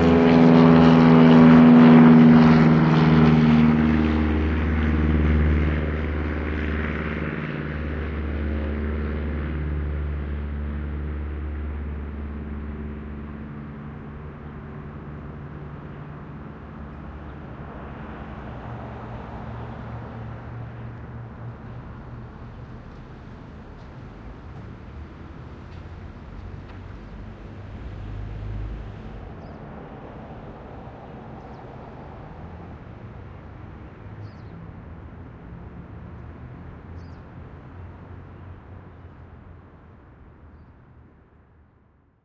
low flying airplane 0.0 - 42.2

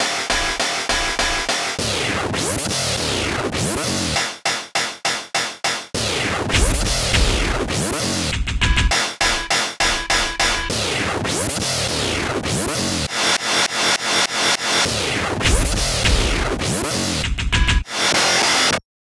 distorted drums 0.0 - 18.8

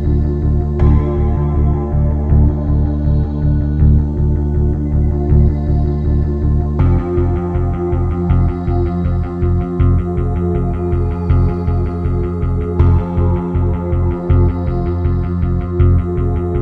Ethereal Pad 0.0 - 16.6
Finger Bass 0.0 - 16.6
Guitar 0.0 - 16.6
Drums 6.8 - 16.6

